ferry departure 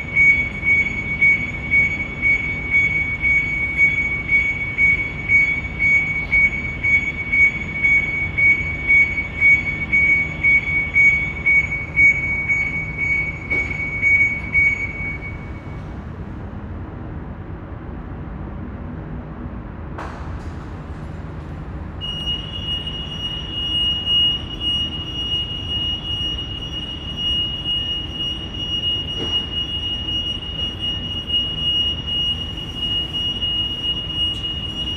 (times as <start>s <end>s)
20.0s 34.9s